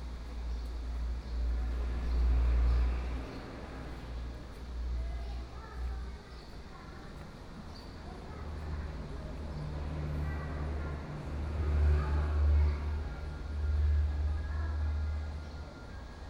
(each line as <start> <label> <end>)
0.0 Traffic Sound 16.2
0.0 walking in the temple 16.2